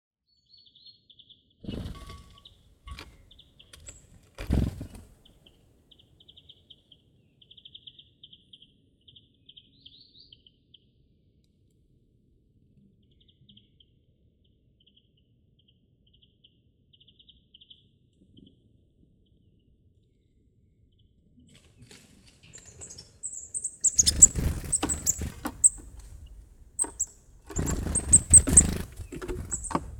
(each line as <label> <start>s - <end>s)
birds 0.6s - 10.6s
birds 21.5s - 29.9s